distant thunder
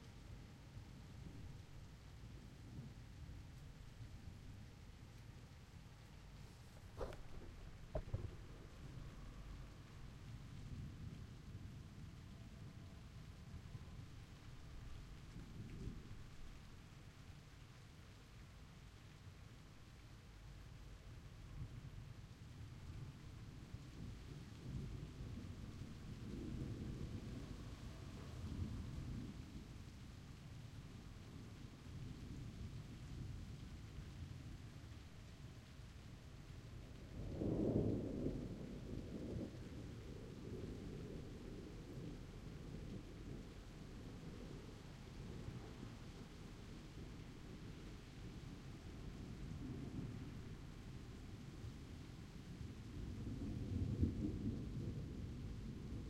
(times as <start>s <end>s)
6.8s 11.0s